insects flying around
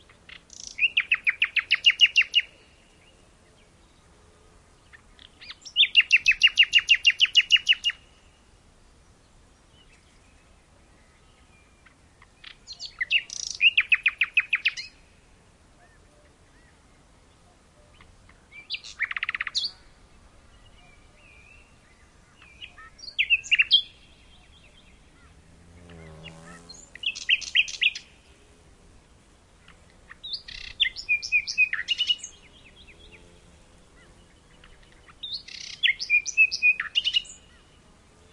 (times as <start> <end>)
21.7 38.3